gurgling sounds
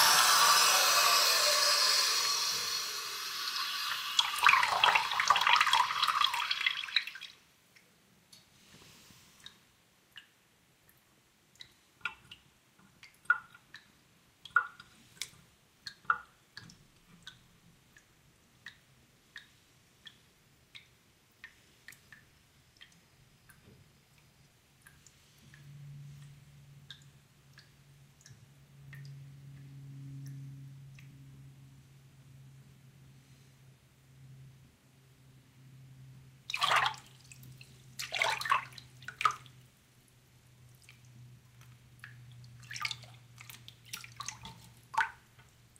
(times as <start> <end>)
0.0 6.4